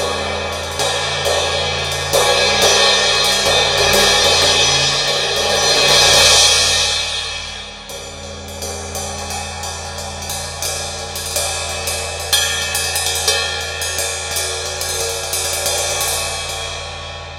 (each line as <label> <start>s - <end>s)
Turkish Ride Cymbal 0.0s - 17.3s